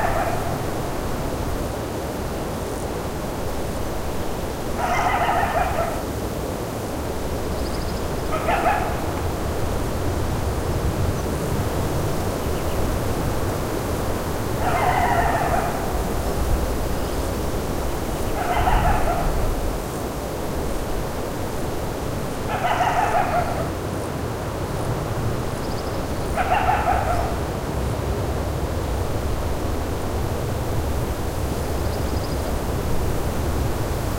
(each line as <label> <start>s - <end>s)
coyote is heard calling in the distance 0.0s - 1.3s
Wind blowing through the jagged terrain 0.0s - 34.1s
coyote is heard calling in the distance 4.7s - 6.2s
coyote is heard calling in the distance 7.7s - 9.3s
coyote is heard calling in the distance 14.4s - 17.3s
coyote is heard calling in the distance 18.0s - 19.8s
coyote is heard calling in the distance 22.4s - 23.8s
coyote is heard calling in the distance 25.7s - 27.6s